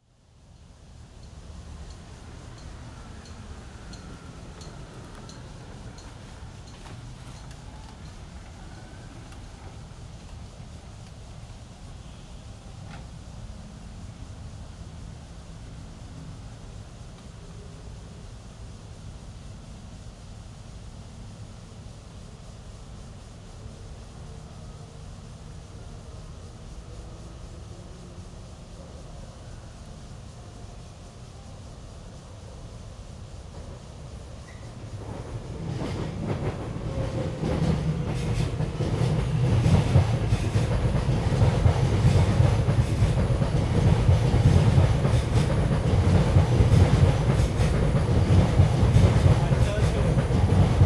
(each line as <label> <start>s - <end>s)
MRT trains through 0.0s - 50.8s
Traffic Sound 1.2s - 14.1s
Traffic Sound 34.5s - 50.8s